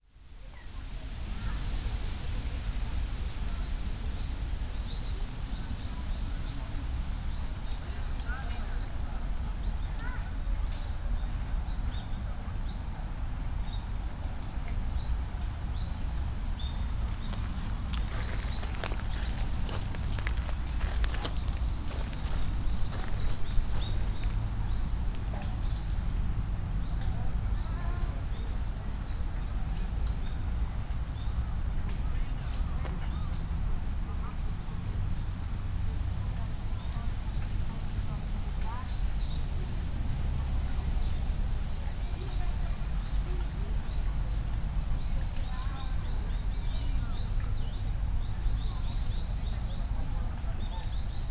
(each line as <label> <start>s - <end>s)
wind in trees 15.0s - 30.1s
birds 15.7s - 26.0s
steps 16.7s - 24.8s